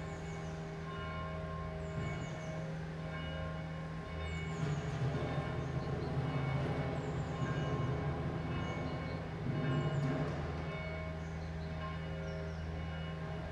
0.0s Deconstruction site 13.5s
0.0s bells 13.5s

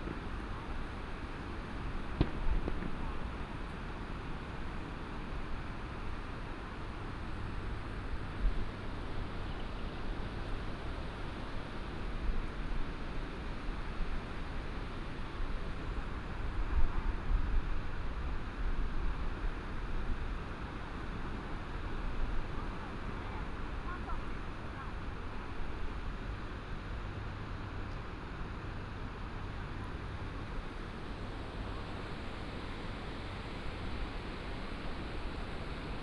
0.0s Fireworks 4.9s
0.0s firecrackers 5.6s

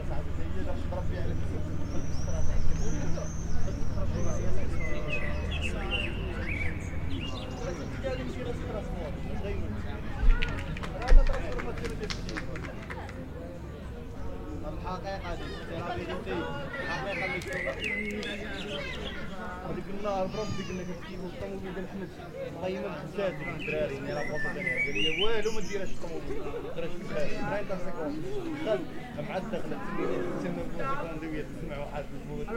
0.0s guys speaking 32.5s
0.0s traffic 32.5s
0.2s birds 10.7s
16.8s birds 21.6s
22.6s birds 27.6s

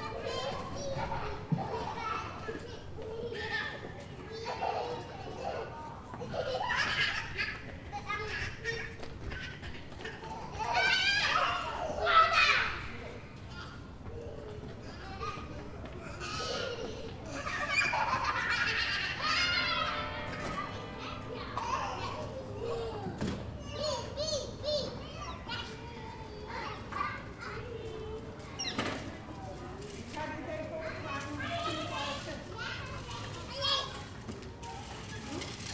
0.0s Parents collect their children 35.7s

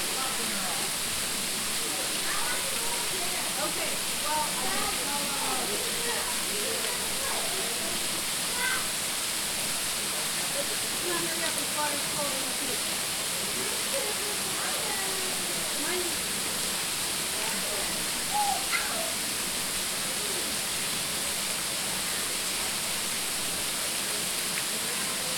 0.0s Families taking pictures and playing in the water 25.3s

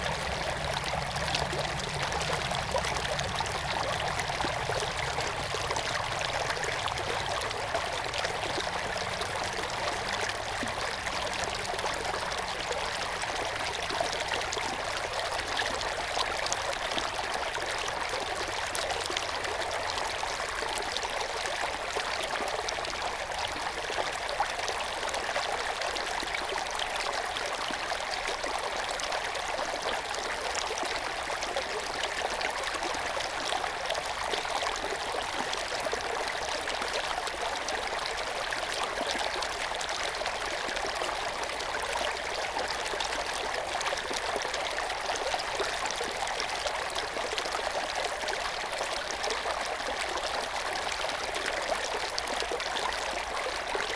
0.0s water inflow 53.9s

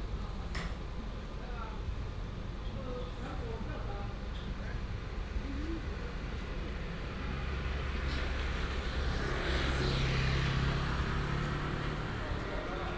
6.0s traffic 12.9s

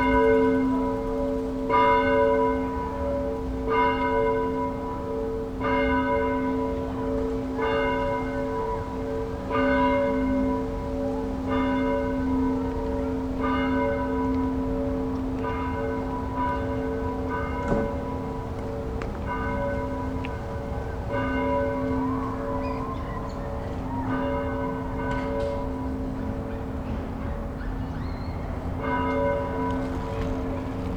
0.0s bells 30.9s

